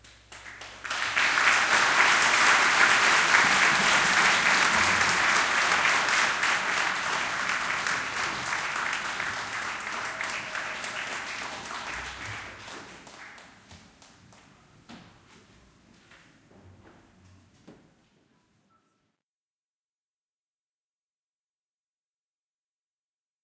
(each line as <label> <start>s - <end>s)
crowd applause 0.3s - 13.6s